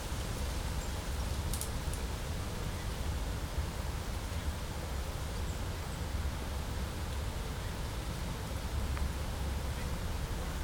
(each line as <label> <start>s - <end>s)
quiet forest sounds 0.0s - 10.6s